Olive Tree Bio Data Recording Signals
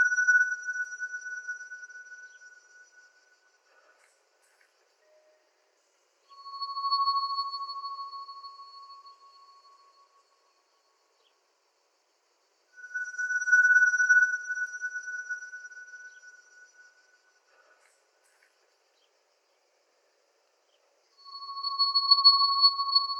6.2 10.7, 12.8 17.8, 21.2 23.1

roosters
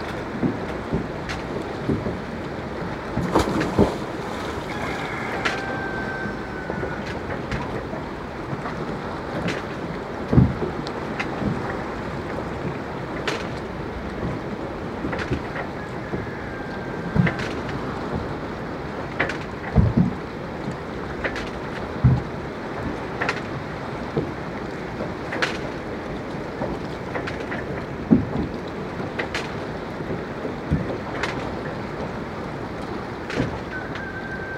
4.5 7.2, 15.8 17.6, 33.7 34.5

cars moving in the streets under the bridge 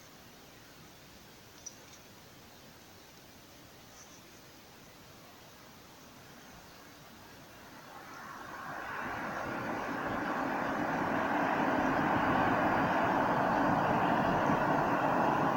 7.0 15.5

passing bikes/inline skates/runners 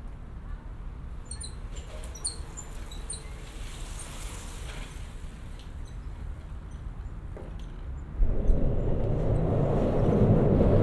1.3 6.7

